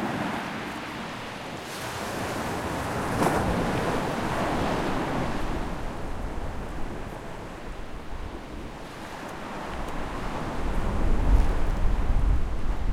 Sea 0.0 - 12.9

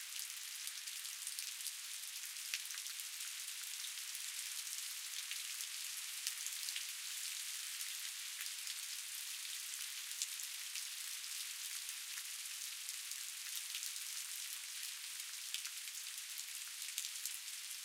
Light outdoor rain 0.0 - 17.8

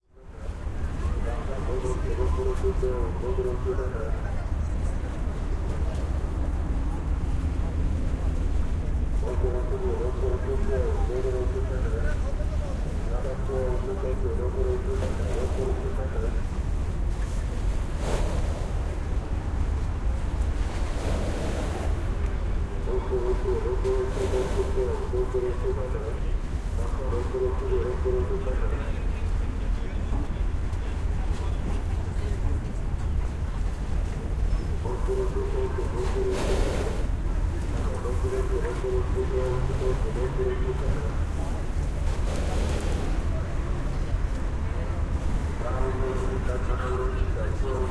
ferryboat 0.0 - 47.9

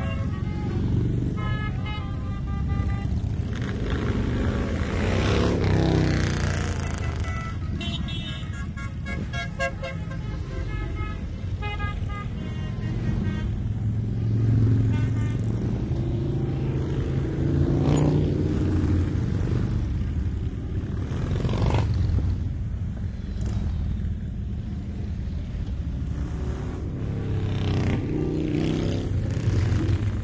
horns 0.0 - 5.5
multiple motorcycles 0.0 - 30.2
horns 6.4 - 13.8
horns 14.6 - 15.8

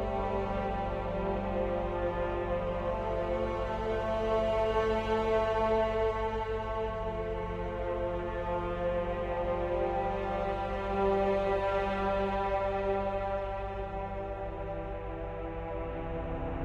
strings 0.0 - 16.6

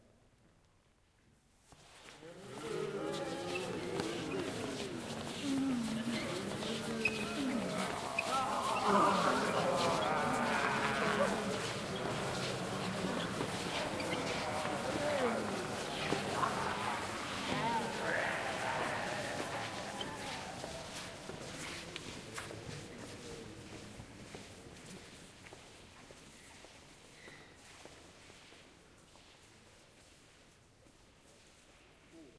Crowd shuffles past recorder - concrete floor - foot shuffles 1.6 - 32.3
groans 2.2 - 21.3

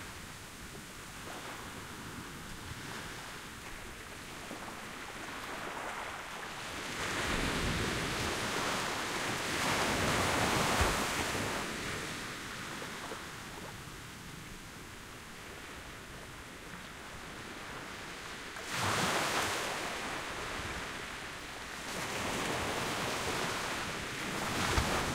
sandy shore break 18.6 - 25.1

